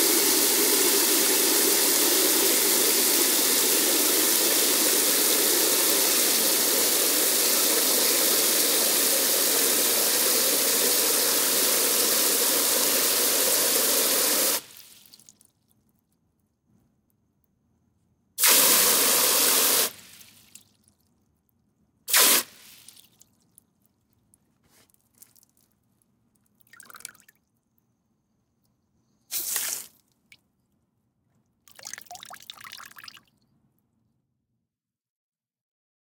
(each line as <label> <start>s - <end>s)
water spray in plastic bucket 0.0s - 15.3s
water spray in plastic bucket 18.4s - 20.7s
water spray in plastic bucket 22.1s - 23.2s
water spray in plastic bucket 29.3s - 30.0s
water spray in plastic bucket 31.7s - 33.3s